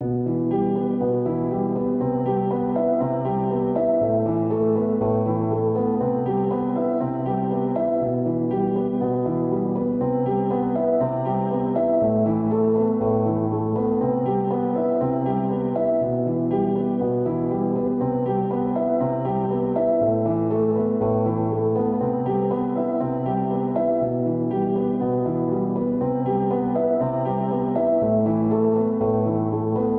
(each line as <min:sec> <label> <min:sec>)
0:00.0 piano 0:29.9